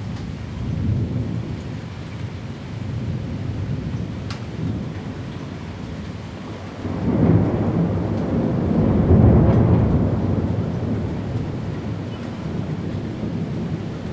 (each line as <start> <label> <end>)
2.9 thunderstorms 14.1